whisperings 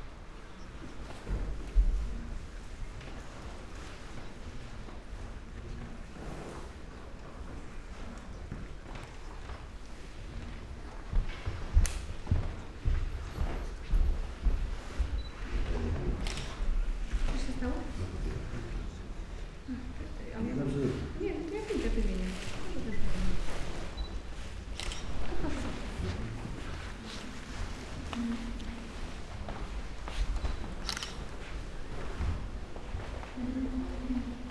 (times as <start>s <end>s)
24.8s 29.5s